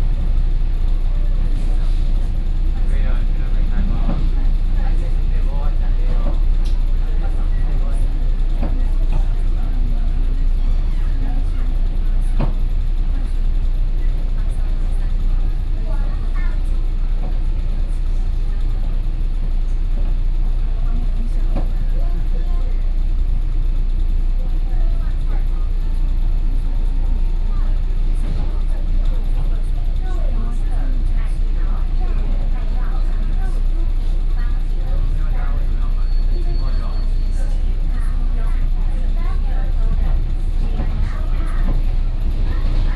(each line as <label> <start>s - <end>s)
inside the Trains 0.0s - 42.9s